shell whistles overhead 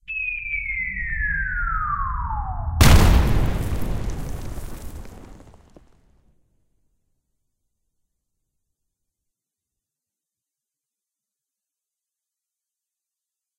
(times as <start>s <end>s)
0.1s 2.8s